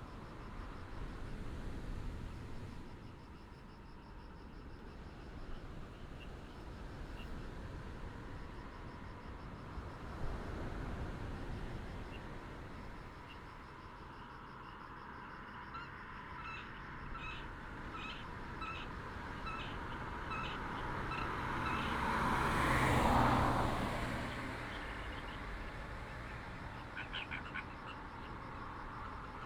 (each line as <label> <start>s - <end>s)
Traffic sound 0.0s - 29.4s
waves 0.0s - 3.7s
waves 4.7s - 13.6s
Frog croak 11.9s - 29.4s
waves 16.3s - 29.4s